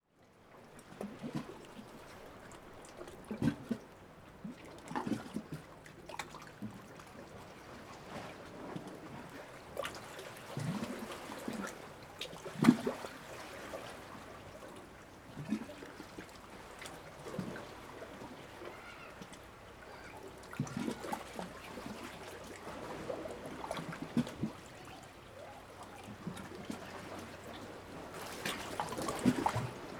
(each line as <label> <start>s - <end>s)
sea 0.0s - 29.9s
faint bird sounds 18.4s - 20.4s